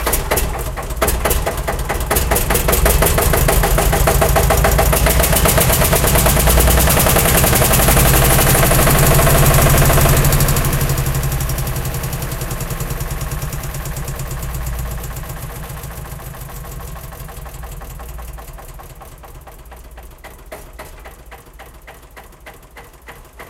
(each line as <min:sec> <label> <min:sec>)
0:00.0 old Eicher tractor 0:23.4